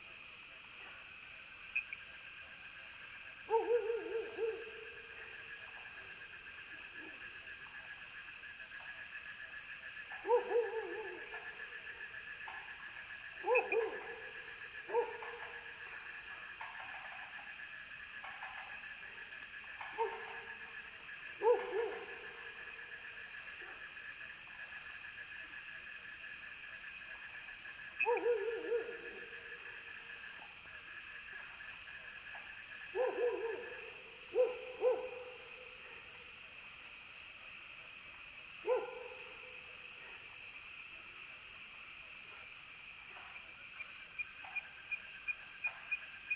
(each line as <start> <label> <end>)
0.0 insects 46.3
3.5 Dogs barking 4.8
10.2 Dogs barking 11.5
13.4 Dogs barking 14.2
13.4 Frogs chirping 16.0
14.9 Dogs barking 15.6
19.8 Dogs barking 20.5
21.4 Dogs barking 22.5
28.0 Dogs barking 29.4
32.9 Dogs barking 35.4
38.6 Dogs barking 39.2